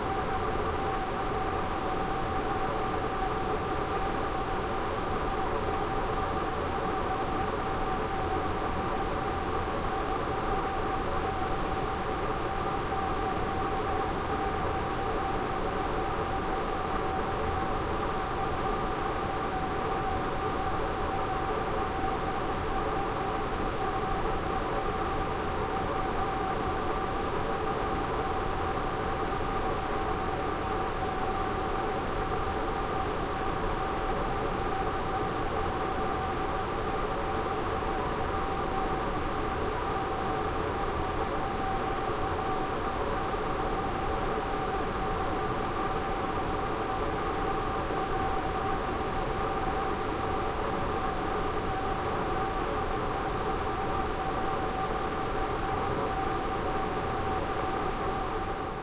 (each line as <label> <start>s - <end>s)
Air Conditioner A/C Vent Hum 0.0s - 58.8s